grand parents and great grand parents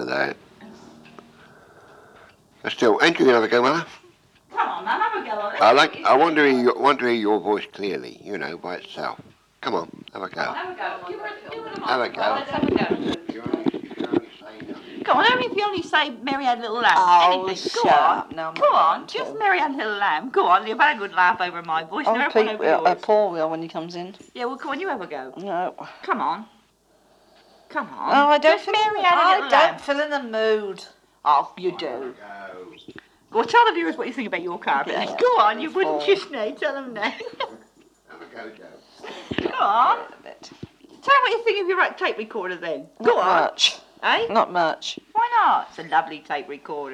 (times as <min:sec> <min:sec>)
0:00.0 0:25.3